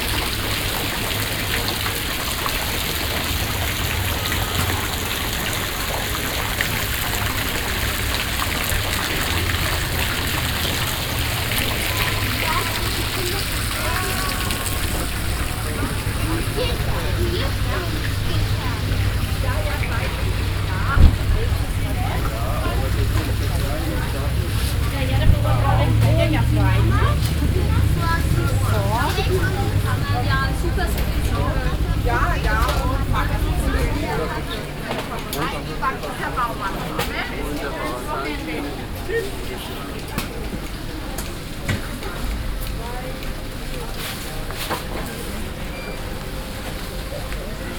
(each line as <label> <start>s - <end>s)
street musicians 0.0s - 37.2s
fountain 0.0s - 47.7s
walking on the market 0.0s - 47.7s